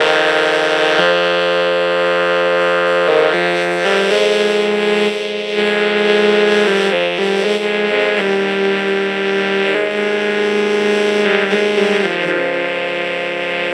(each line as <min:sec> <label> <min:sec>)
0:00.0 vocoder 0:13.7